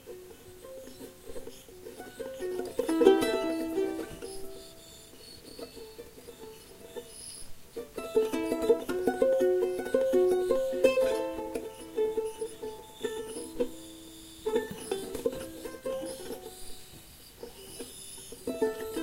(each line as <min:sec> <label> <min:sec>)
0:00.0 Charango improv 0:19.0